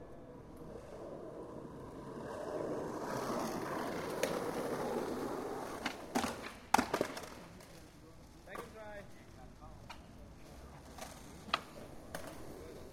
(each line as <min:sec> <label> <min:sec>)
0:00.0 Skateboard 0:08.8
0:02.9 Skateboard crash 0:07.5
0:09.8 Skateboard 0:12.9